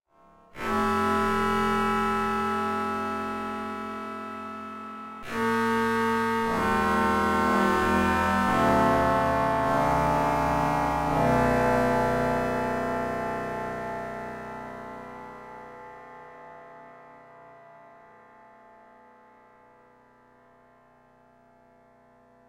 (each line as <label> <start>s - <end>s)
software synthesizer 0.6s - 15.7s